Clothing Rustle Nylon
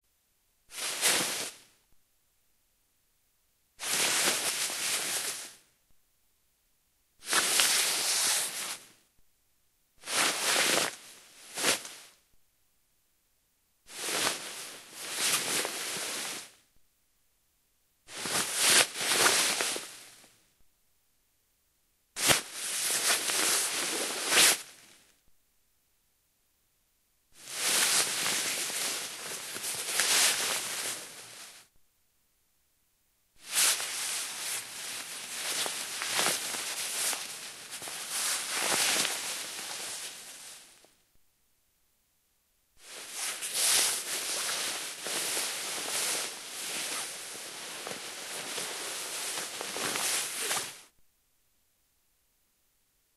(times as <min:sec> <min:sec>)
0:00.7 0:01.6, 0:03.8 0:05.6, 0:07.2 0:08.9, 0:10.0 0:12.2, 0:13.9 0:16.6, 0:18.1 0:20.3, 0:22.2 0:25.0, 0:27.4 0:31.7, 0:33.4 0:40.9, 0:42.8 0:50.9